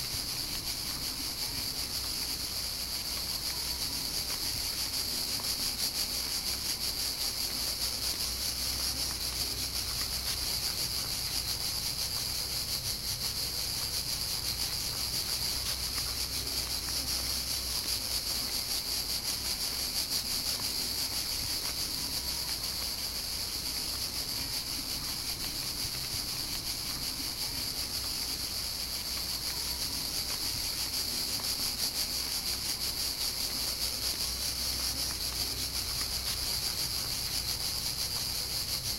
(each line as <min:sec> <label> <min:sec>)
0:00.0 bugs 0:38.9